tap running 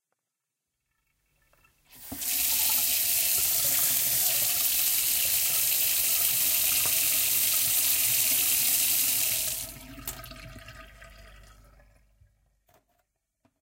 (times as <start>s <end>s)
2.0s 10.8s